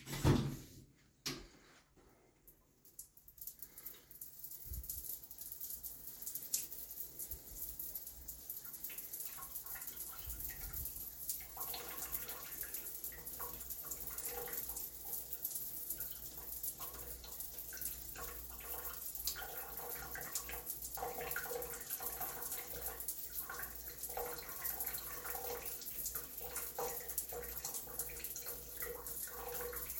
3.4s Shower, Malfunction 29.9s

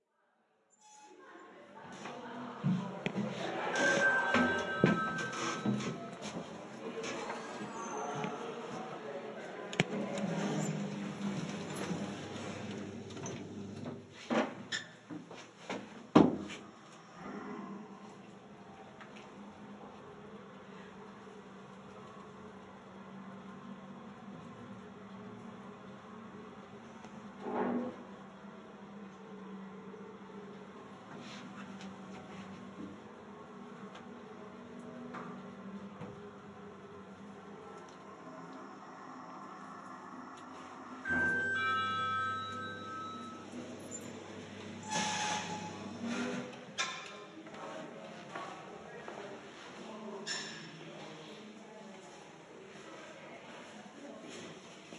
3.2s elevator 8.8s
9.8s elevator 14.1s
37.9s elevator 46.9s

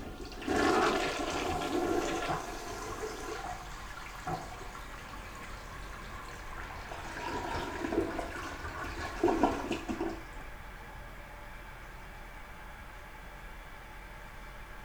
0.0s Toilet Flush 10.6s

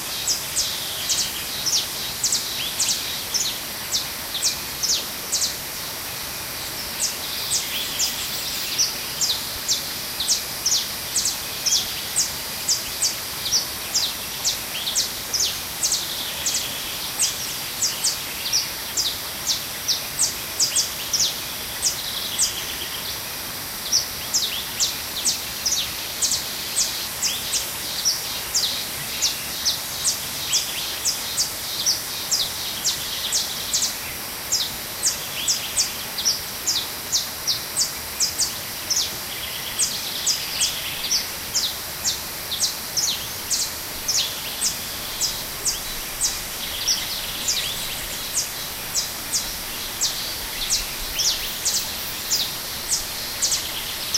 0.0s birds 54.1s
0.0s cicadas 54.1s
0.0s little river in background 54.1s

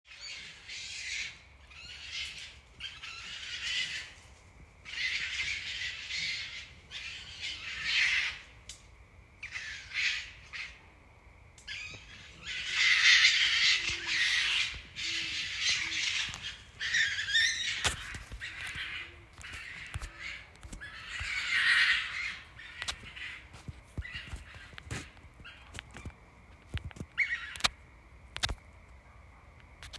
0.2s Fighting racoons 8.5s
11.7s Fighting racoons 26.2s

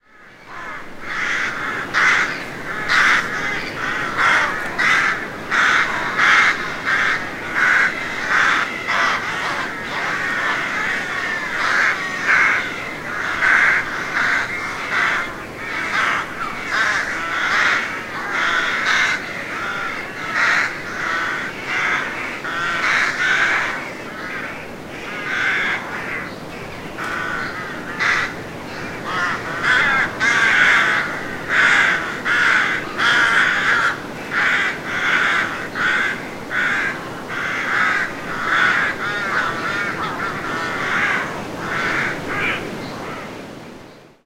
0.0s Rooks nesting in tall trees 43.8s
0.0s Wind 44.2s

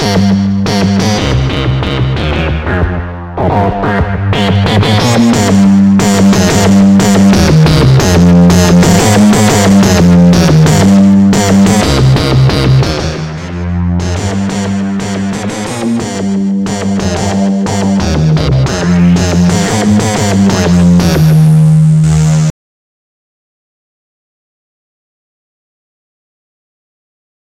0.0s bass 22.6s

